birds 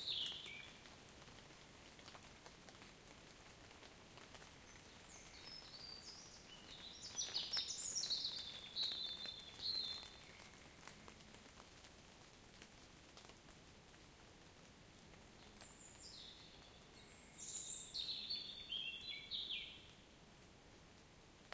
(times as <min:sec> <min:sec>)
0:00.0 0:00.9, 0:04.2 0:11.6, 0:15.1 0:20.1